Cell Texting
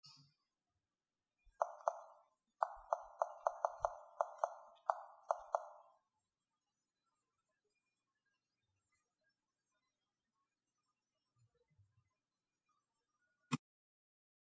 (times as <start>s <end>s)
1.6s 5.9s